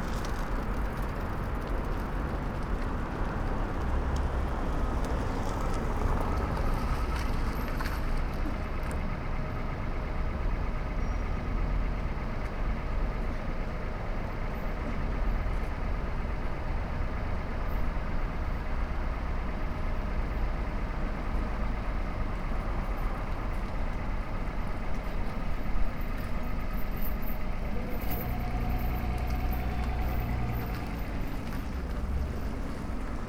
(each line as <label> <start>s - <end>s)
cyclists 0.0s - 9.2s
City murmur 0.0s - 33.2s
Pedestrians along canal 0.0s - 33.2s
cyclists 19.5s - 33.2s